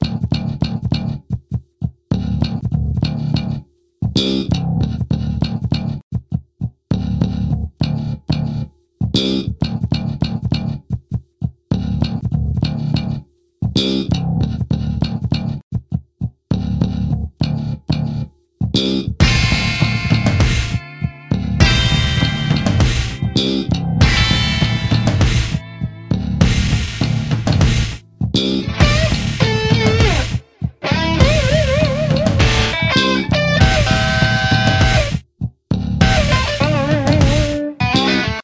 0.0s slap bass 1.3s
0.0s drums 38.4s
2.1s slap bass 6.0s
6.9s slap bass 10.9s
11.7s slap bass 15.6s
16.5s slap bass 38.4s
19.2s guitars 35.2s
36.0s guitars 38.4s

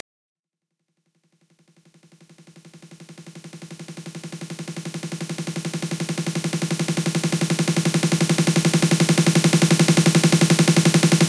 2.8s Snare Roll 16th 11.2s

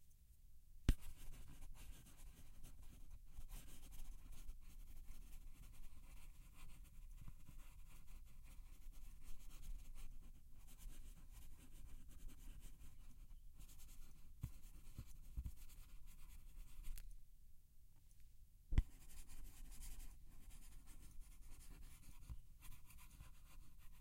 18.8s pen writing on paper 24.0s

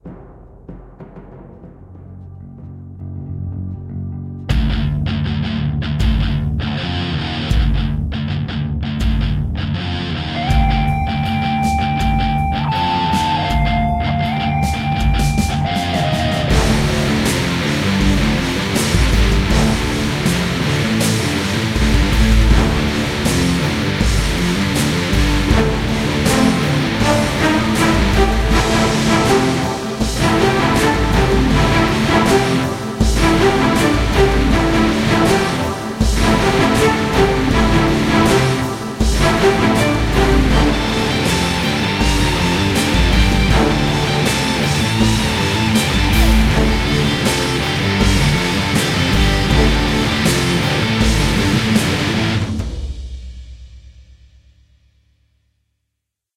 0.0s drums 3.4s
2.0s bass 53.0s
2.3s guitars 52.8s
4.5s drums 54.9s
9.6s strings 52.7s

